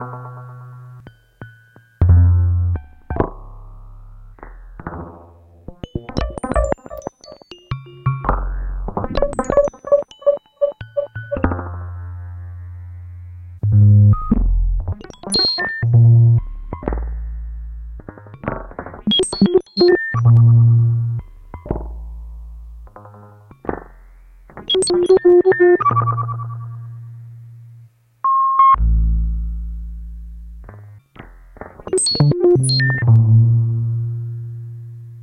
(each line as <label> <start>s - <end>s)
bleeps 15.0s - 15.9s
bleeps 19.1s - 20.4s
bleeps 24.7s - 26.6s
bleeps 31.9s - 33.1s